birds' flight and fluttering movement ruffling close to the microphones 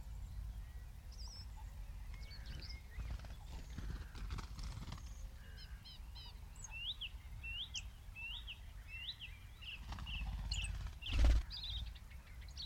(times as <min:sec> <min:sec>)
0:02.4 0:05.4, 0:09.6 0:11.9